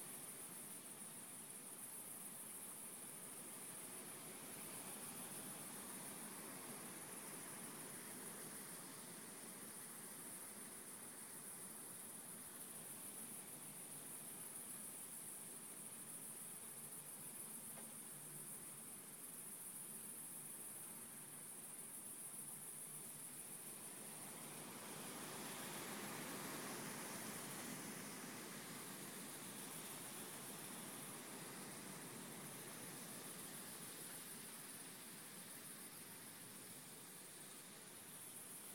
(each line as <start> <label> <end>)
0.0 crickets 38.7
0.0 wind 38.7